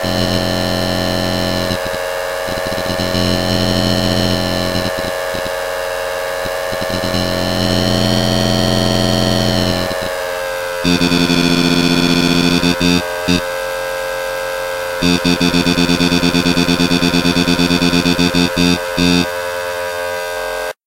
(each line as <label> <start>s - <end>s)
pulsating noise 0.0s - 13.9s
swept the frequency of the main monotron oscillator 0.0s - 20.8s
pulsating noise 14.6s - 19.3s